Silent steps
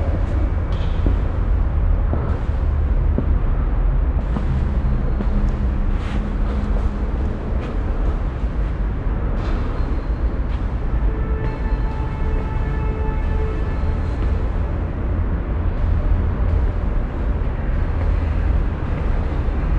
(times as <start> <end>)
4.2 10.7